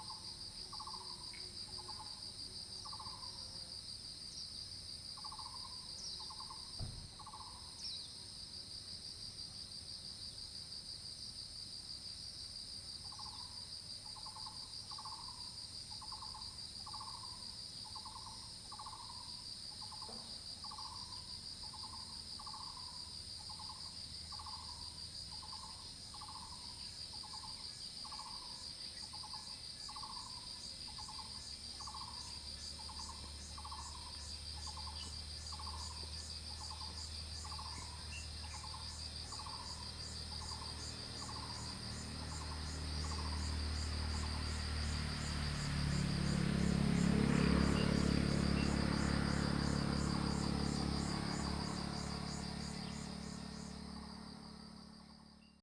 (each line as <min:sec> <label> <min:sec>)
0:00.0 Insect sounds 0:55.6
0:31.8 Traffic Sound 0:55.6